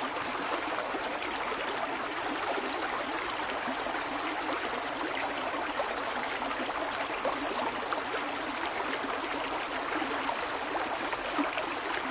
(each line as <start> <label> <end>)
0.0 small woodland stream 12.1